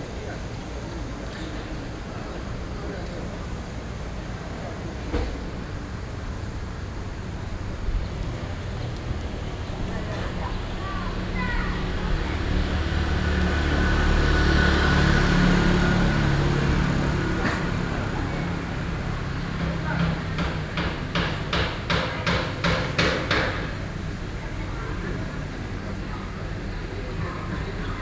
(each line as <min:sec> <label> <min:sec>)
0:00.0 old man sitting in the intersection chat 0:20.8